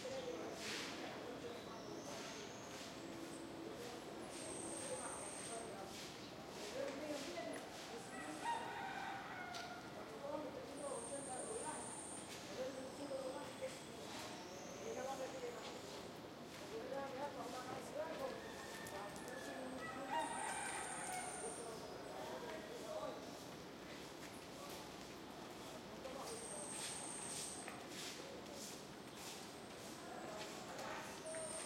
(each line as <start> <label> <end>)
8.0 rooster 10.0
18.2 rooster 21.7